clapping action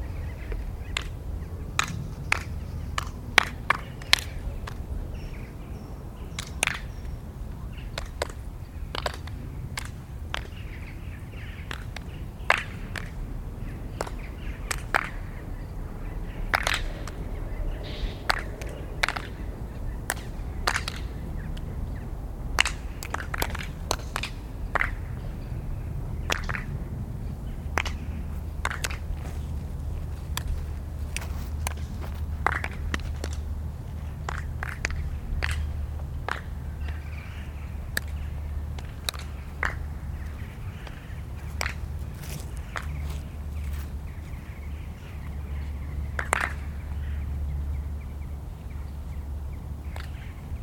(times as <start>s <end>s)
1.8s 4.9s, 6.4s 6.9s, 8.0s 10.8s, 11.6s 13.3s, 13.9s 15.5s, 16.3s 22.0s, 22.6s 25.3s, 26.2s 26.7s, 27.8s 29.1s, 31.2s 33.4s, 34.2s 37.2s, 38.8s 41.0s, 41.6s 43.2s, 46.2s 46.8s, 50.0s 50.2s